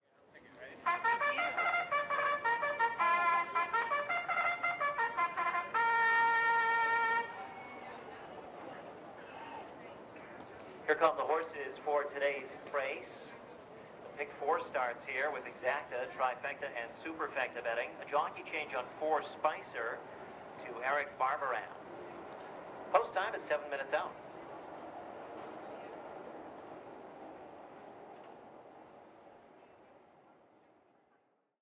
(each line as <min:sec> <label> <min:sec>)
0:00.8 Call to Post 0:08.1